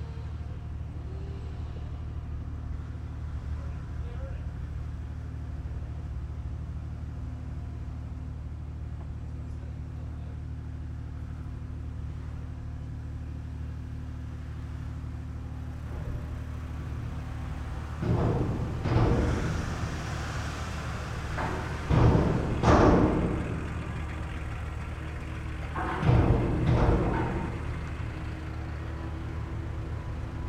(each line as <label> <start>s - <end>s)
ferry arriving 14.7s - 30.4s